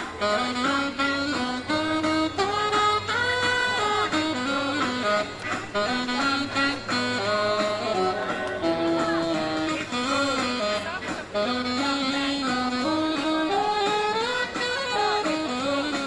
Sax player plays mixture of hit songs 0.0 - 16.0
crowd 8.1 - 9.8
crowd 10.7 - 11.3

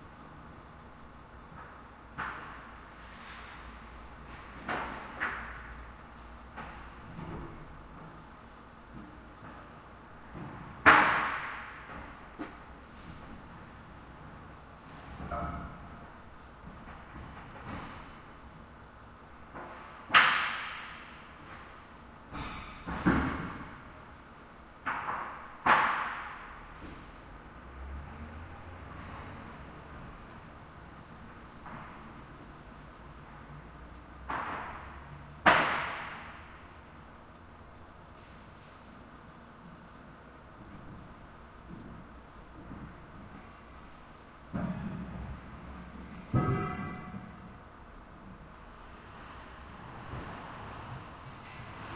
forklift 44.5 - 47.6

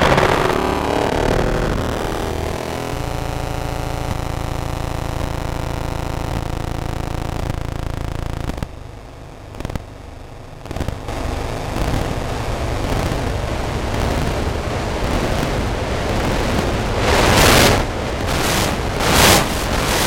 feedback loop 0.0 - 20.0
internal sound card noise 0.0 - 20.0
electromagnetic phone transducer stuck to DC converter 10.6 - 12.2

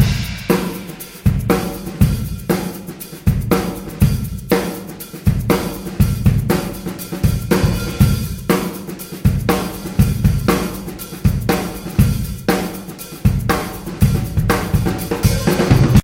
big live room drums 0.0 - 16.0
groove shaker 0.0 - 16.0

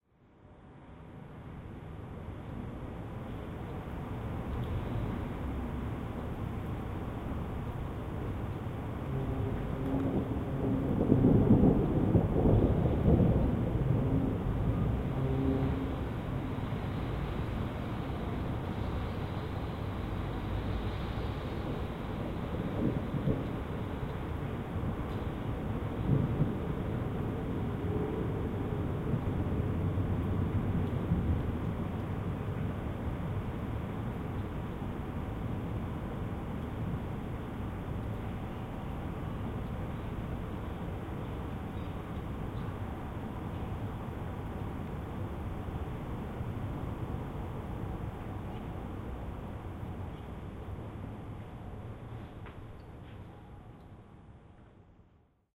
rain 0.0 - 55.5
Quiet rumble of thunder 7.7 - 37.8

